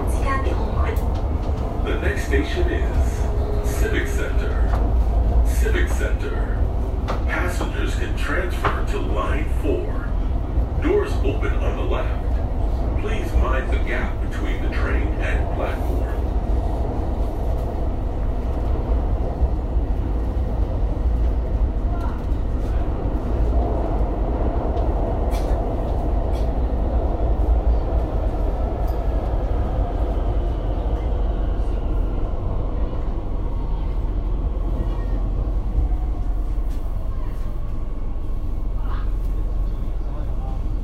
subway car 0:00.0 - 0:40.8

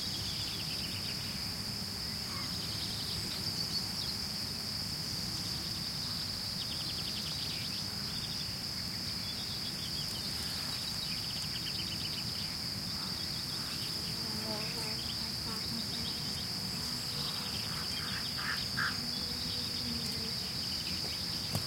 crickets chirping 0:00.0 - 0:21.6
occasional bee buzzing 0:12.9 - 0:21.6
birds calling 0:15.5 - 0:21.6

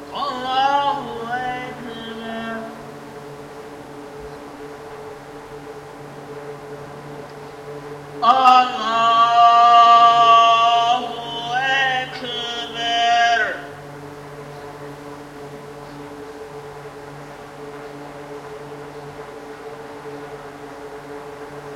Muslim pray 0:00.0 - 0:03.2
background drone sound was produced by an array of misting fans 0:00.0 - 0:21.7
Muslim pray 0:07.8 - 0:14.0

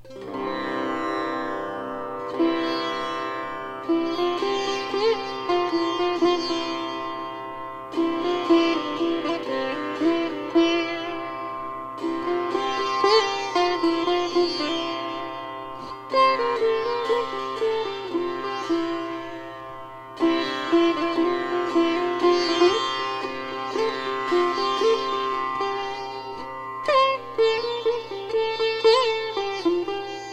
sitar 0:00.0 - 0:30.3

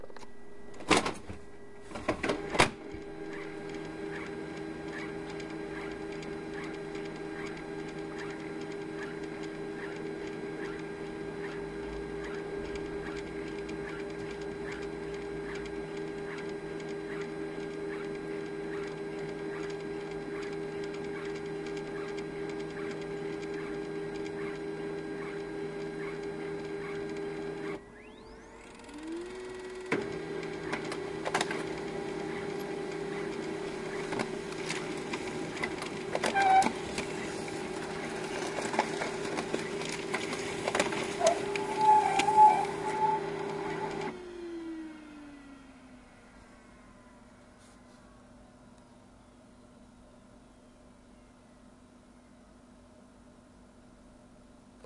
laser printer clogging in two squeaky phases 0:29.6 - 0:38.2
laser printer clogging in two squeaky phases 0:40.8 - 0:44.1

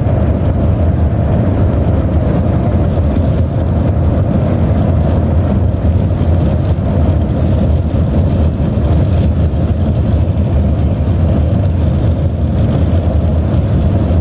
Car 0:00.0 - 0:14.2
wind 0:00.0 - 0:14.2

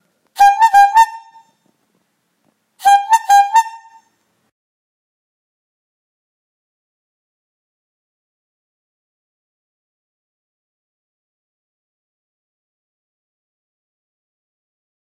clown horn 0:00.4 - 0:01.5
clown horn 0:02.8 - 0:04.1

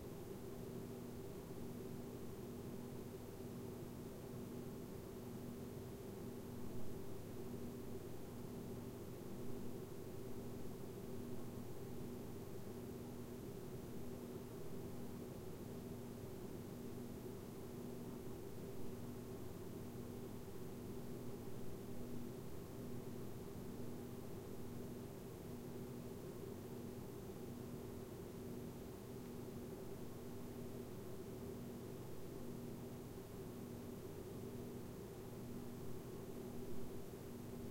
Room white noise 0:00.0 - 0:37.7

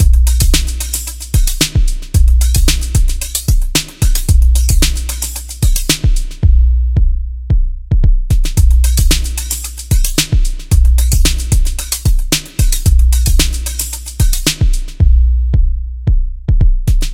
bass 0:00.0 - 0:17.1
standard drums 0:00.0 - 0:17.1
Roland Boom kick 0:05.7 - 0:09.2

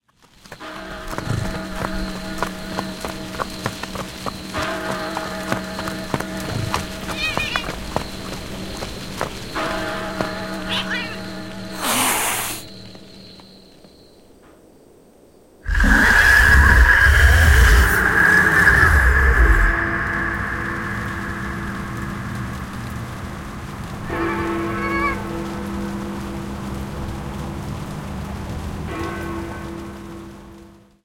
horse 0:11.7 - 0:12.7

